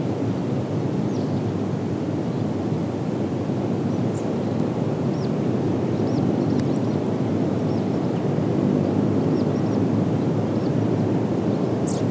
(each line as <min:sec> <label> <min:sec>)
0:11.8 birds chirping 0:12.1